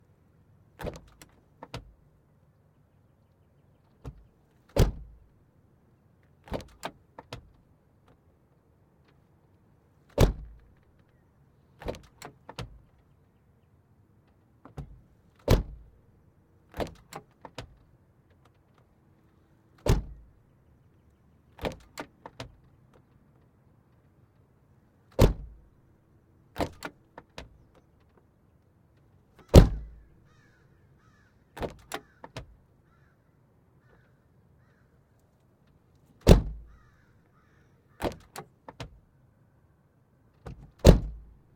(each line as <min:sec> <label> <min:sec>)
0:00.8 trunk being opened and closed 0:01.9
0:04.0 trunk being opened and closed 0:05.2
0:06.4 trunk being opened and closed 0:07.6
0:10.1 trunk being opened and closed 0:10.7
0:11.8 trunk being opened and closed 0:12.8
0:14.6 trunk being opened and closed 0:15.9
0:16.7 trunk being opened and closed 0:17.8
0:19.8 trunk being opened and closed 0:20.3
0:21.6 trunk being opened and closed 0:22.7
0:25.1 trunk being opened and closed 0:25.6
0:26.6 trunk being opened and closed 0:28.2
0:29.4 trunk being opened and closed 0:30.0
0:31.6 trunk being opened and closed 0:32.5
0:36.2 trunk being opened and closed 0:36.9
0:38.0 trunk being opened and closed 0:39.0
0:40.4 trunk being opened and closed 0:41.4